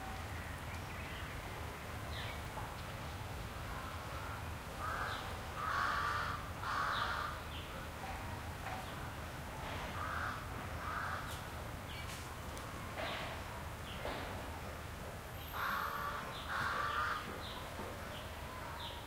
distant sparse people activity 0.0 - 19.0
light traffic 0.0 - 19.0
crows 4.2 - 7.4
crows 9.9 - 11.4
crows 15.5 - 17.6

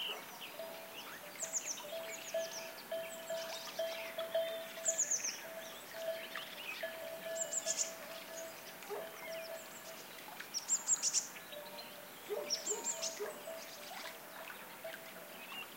dogs barking 0.0 - 0.7
birds singing 0.0 - 15.7
sheepbells 0.5 - 9.8
dogs barking 8.9 - 9.2
dogs barking 12.3 - 13.6

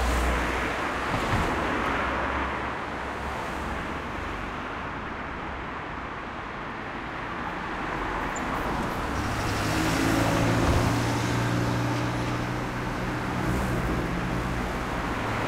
Traffic 0.0 - 15.4
bus 0.0 - 15.4

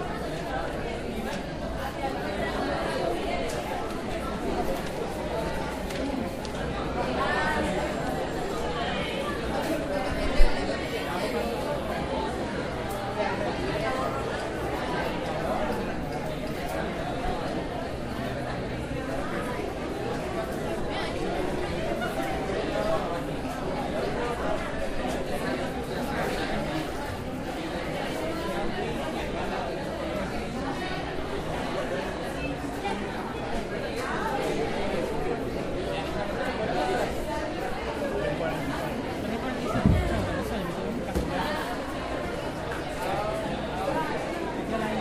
Spanish speaking students 0.0 - 45.0

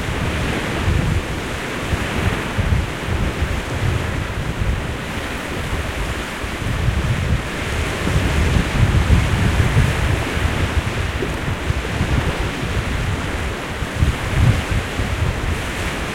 Waves 0.0 - 16.1
Wind 0.0 - 16.1

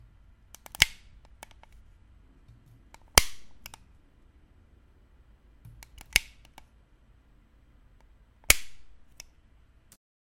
flashlight switching on and off 0.5 - 1.8
flashlight switching on and off 2.9 - 3.9
flashlight switching on and off 5.7 - 6.7
flashlight switching on and off 8.0 - 9.4

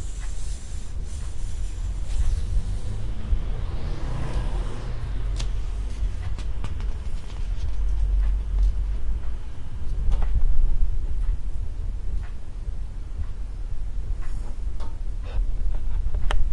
ticking clock 0.1 - 3.5
cars passing 1.8 - 8.6
turning pages 5.4 - 8.1
ticking clock 8.1 - 9.4
ticking clock 12.1 - 12.5

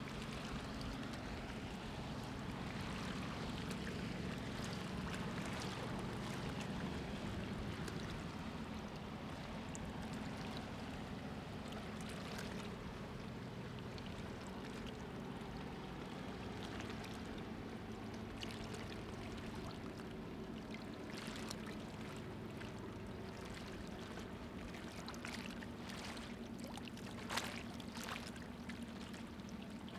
boats passing by 0.0 - 29.9

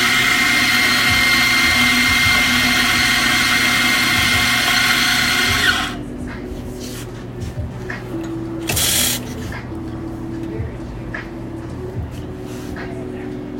coffee grinder 0.0 - 6.0
espresso machine 0.0 - 6.0
espresso machine 8.7 - 9.2

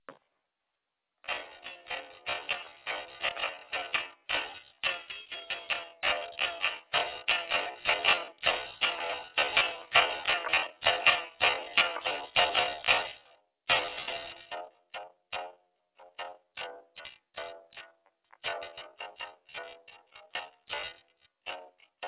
guitar 1.2 - 22.0

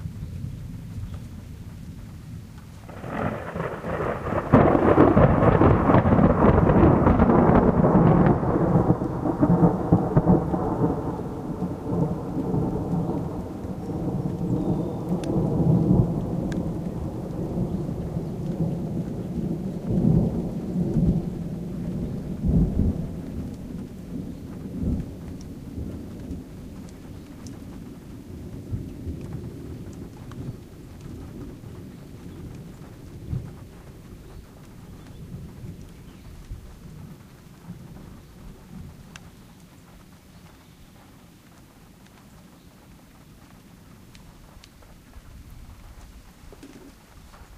claps of thunder 2.8 - 39.4

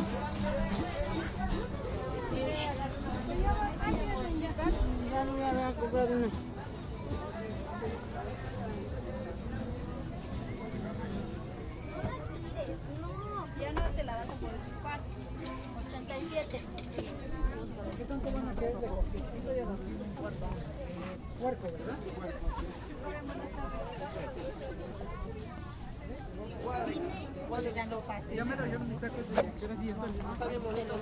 people 0.0 - 31.0

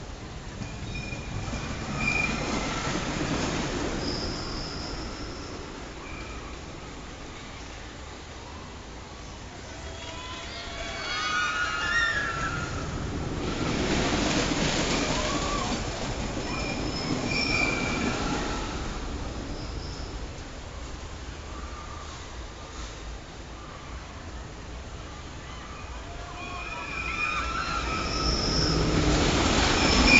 wooden rollercoaster 0.0 - 8.8
wooden rollercoaster 9.6 - 23.1
wooden rollercoaster 23.7 - 30.1

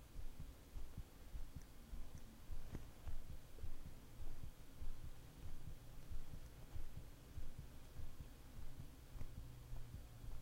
heartbeat 0.0 - 10.4

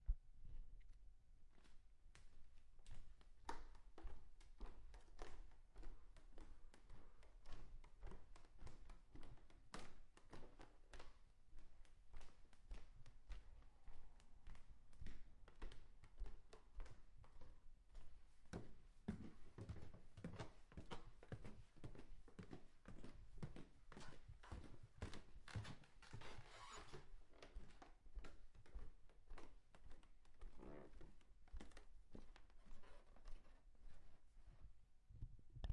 footsteps and stairs wood 14.4 - 34.6

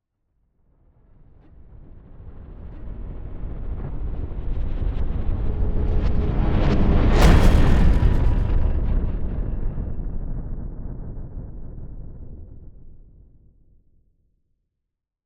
boom 6.6 - 12.9
whoosh 6.6 - 9.7

